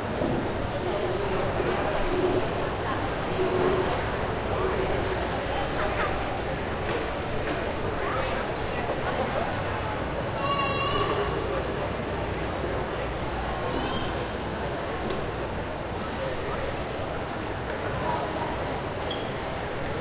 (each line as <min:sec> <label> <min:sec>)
0:00.0 lots of people eating 0:20.0